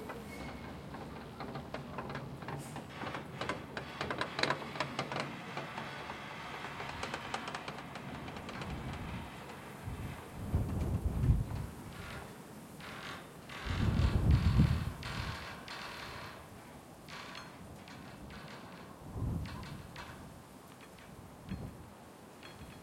0.0s cableway 22.8s

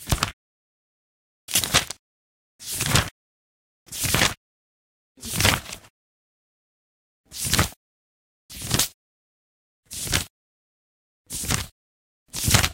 0.0s page turning 0.3s
1.5s page turning 2.0s
2.6s page turning 3.1s
3.9s page turning 4.4s
5.2s page turning 5.9s
7.4s page turning 7.8s
8.5s page turning 8.9s
9.9s page turning 10.3s
11.3s page turning 11.7s
12.3s page turning 12.7s

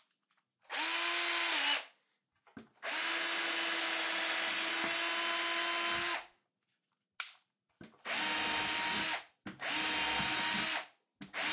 8.1s Drilling into timber 10.8s
8.2s General purpose wood saw 'ripping' along the grain 10.8s

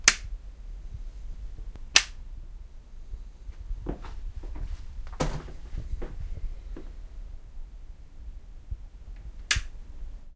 0.0s light switch 0.3s
1.9s light switch 2.2s
3.5s me walking 7.0s
5.1s closing the door 6.2s
9.2s light switch 9.8s

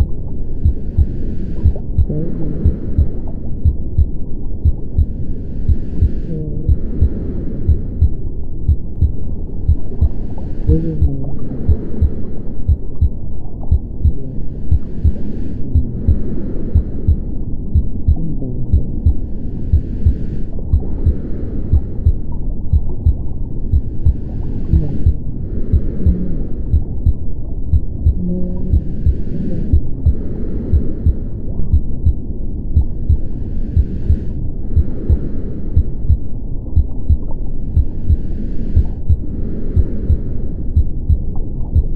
0.0s heart beat at 60 bpm 41.9s
0.0s recording of my breathing 41.9s
0.0s underwater sounds 41.9s
2.0s muffled sound of a female voice reading a story 3.2s
5.8s muffled sound of a female voice reading a story 7.6s
10.2s muffled sound of a female voice reading a story 12.0s
14.1s muffled sound of a female voice reading a story 16.4s
18.2s muffled sound of a female voice reading a story 19.4s
24.2s muffled sound of a female voice reading a story 25.2s
25.9s muffled sound of a female voice reading a story 26.7s
28.1s muffled sound of a female voice reading a story 30.3s

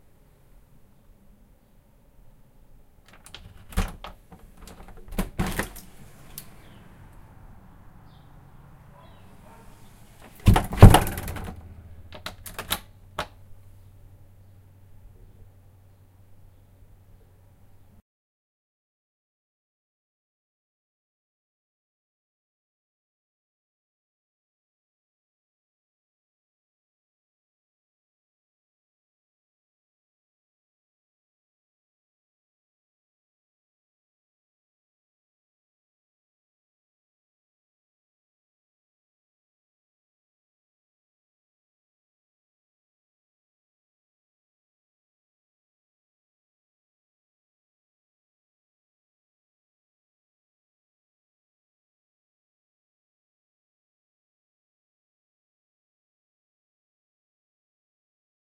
3.1s unlock 6.6s
3.1s Opening and closing the front door 7.0s
9.0s Opening and closing the front door 13.4s
10.2s unlock 13.4s

